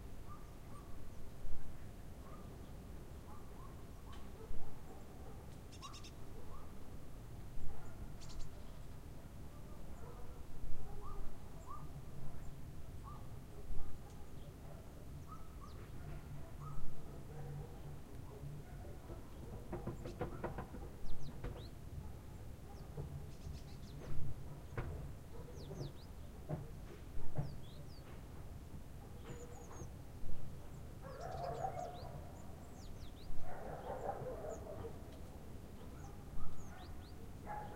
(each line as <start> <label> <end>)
0.1 birds 6.8
0.2 dogs 1.0
2.2 dogs 2.6
3.2 dogs 6.8
7.4 birds 37.7
7.6 dogs 8.1
9.2 dogs 21.1
22.0 dogs 23.2
25.3 dogs 25.9
29.0 dogs 29.9
31.0 dogs 32.5
33.4 dogs 37.7